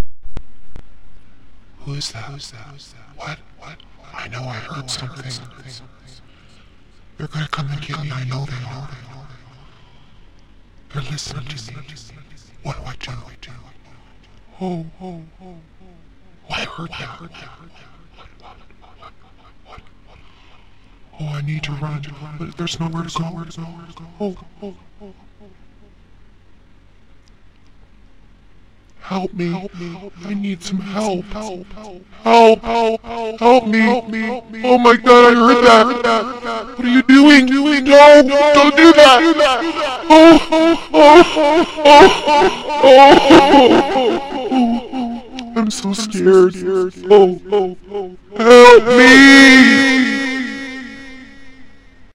moan10 ECHO LOW PITCH 29.0 - 51.8

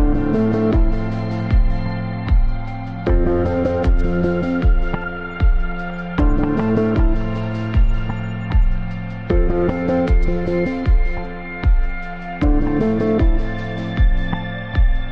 drums 0.0 - 15.1
piano 0.0 - 15.1
synth 0.0 - 15.1

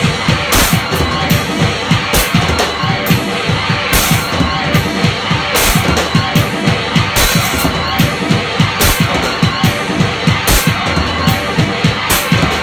drums 0.0 - 12.6
guitar 0.0 - 12.6

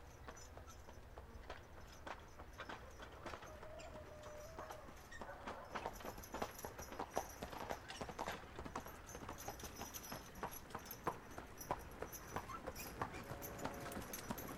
HORSE & wagon coming forward from far 0.0 - 14.5

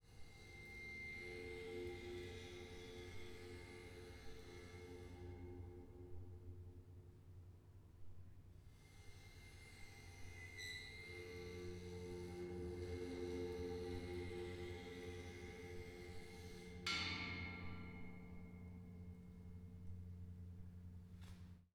Bowing metal stairs with cello bow 9.0 - 21.0

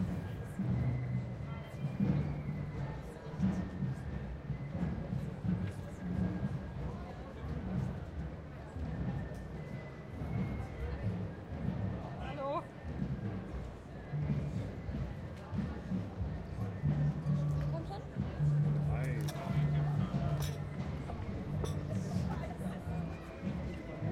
voices of people in cafe 0.0 - 24.1

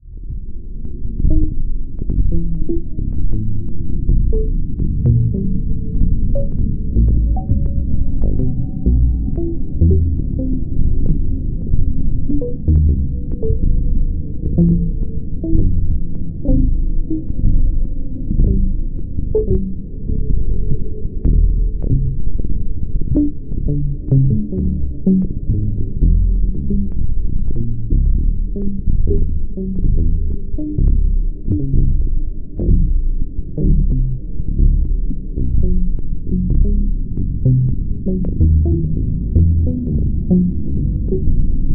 drone 0.0 - 41.7

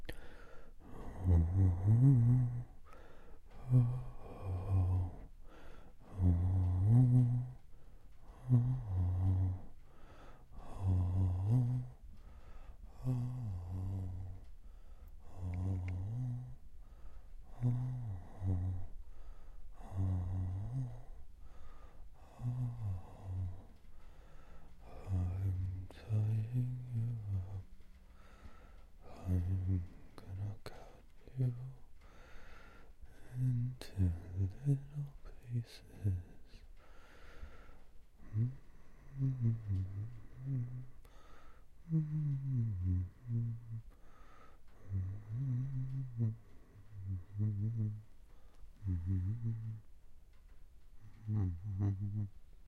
creepy person singing 0.8 - 2.8
creepy person singing 3.5 - 5.3
creepy person singing 6.0 - 9.8
creepy person singing 10.5 - 12.2
creepy person singing 12.9 - 14.5
creepy person singing 15.2 - 16.6
creepy person singing 17.4 - 19.0
creepy person singing 19.7 - 21.2
creepy person singing 22.2 - 23.9
creepy person singing 24.8 - 27.9
creepy person singing 29.0 - 31.9
creepy person singing 33.1 - 36.7
creepy person singing 38.2 - 41.0
creepy person singing 41.8 - 44.0
creepy person singing 44.7 - 49.9
creepy person singing 51.0 - 52.4

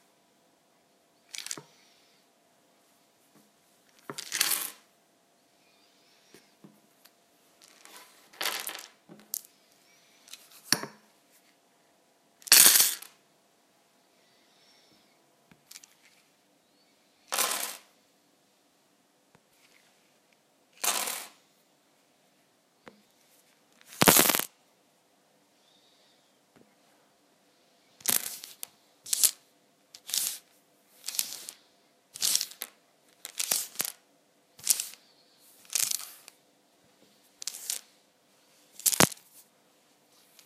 manipulating small wooden scrabble tiles 1.3 - 1.8
manipulating small wooden scrabble tiles 30.0 - 30.4
manipulating small wooden scrabble tiles 31.0 - 31.6
manipulating small wooden scrabble tiles 32.2 - 34.0
manipulating small wooden scrabble tiles 34.6 - 35.0
manipulating small wooden scrabble tiles 35.6 - 36.3
manipulating small wooden scrabble tiles 37.4 - 37.9
manipulating small wooden scrabble tiles 38.8 - 39.2

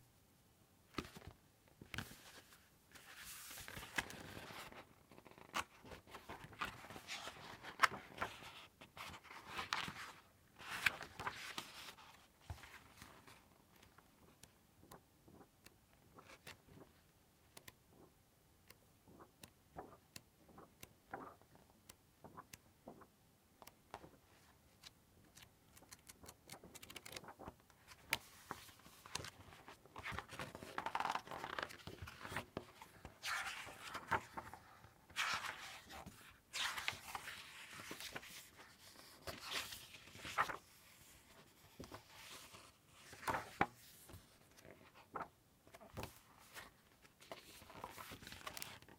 page turns 0.9 - 14.4
page flips 0.9 - 14.5
page flips 24.8 - 48.9
page turns 24.8 - 48.9

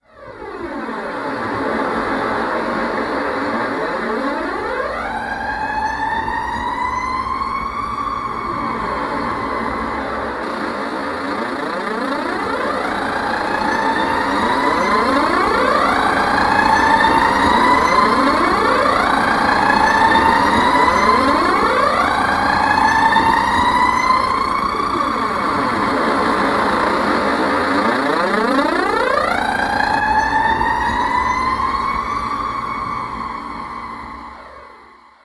bus engine 0.1 - 35.2

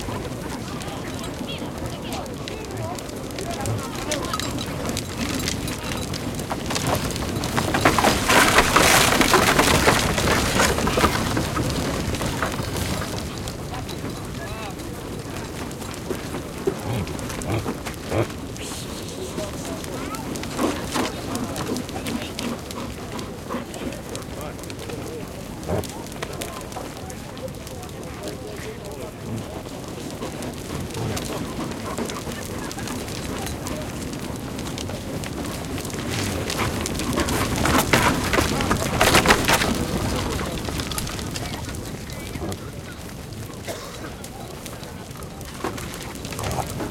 big herd of reindeer in a fencing 0.0 - 46.9
human voices 0.0 - 46.9
grunting 16.8 - 19.6

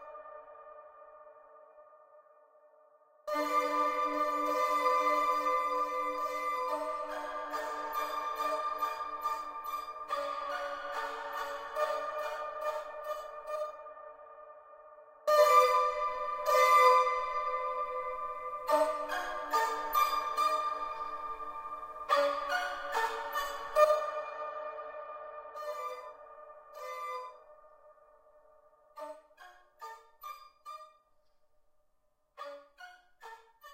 violin 3.3 - 31.0
violin 32.4 - 33.7

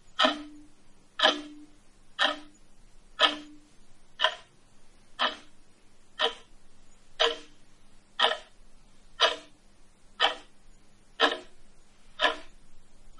tick tock 0.2 - 2.6
tick tock 3.2 - 3.6
tick tock 4.2 - 4.5
tick tock 5.2 - 5.5
tick tock 6.2 - 6.5
tick tock 7.2 - 7.6
tick tock 8.2 - 8.5
tick tock 9.2 - 9.6
tick tock 10.2 - 10.5
tick tock 11.2 - 11.6
tick tock 12.2 - 12.5

